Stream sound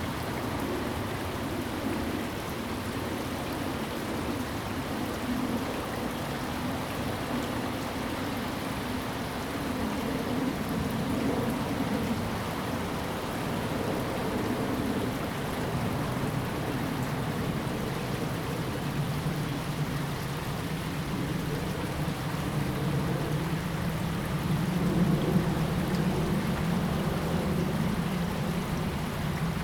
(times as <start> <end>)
12.2 29.6